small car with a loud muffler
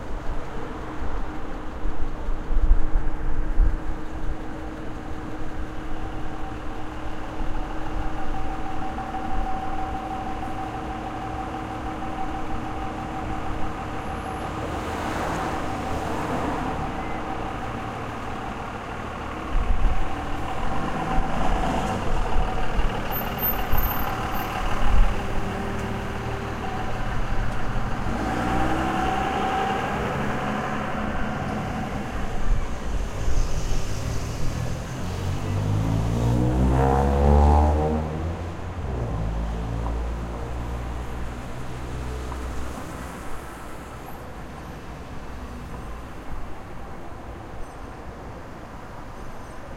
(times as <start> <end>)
5.9 41.8